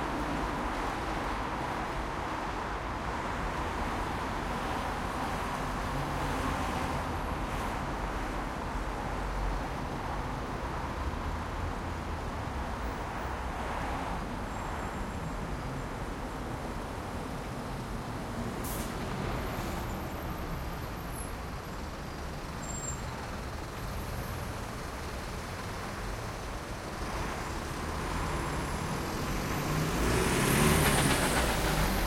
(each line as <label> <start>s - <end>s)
Traffic noise 0.0s - 32.0s